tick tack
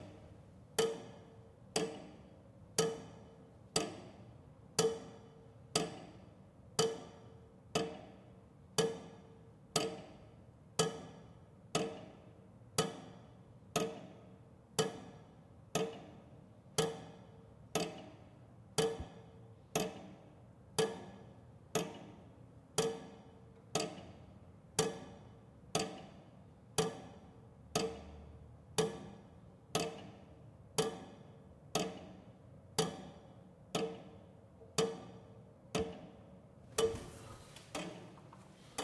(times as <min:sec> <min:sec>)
0:01.8 0:02.2, 0:03.8 0:04.2, 0:04.8 0:06.2, 0:16.8 0:17.2, 0:17.8 0:18.1, 0:21.8 0:22.1, 0:22.8 0:24.2, 0:25.8 0:26.2, 0:26.8 0:27.2, 0:27.8 0:28.2, 0:28.8 0:30.2, 0:30.8 0:31.2, 0:31.8 0:32.2, 0:32.8 0:35.2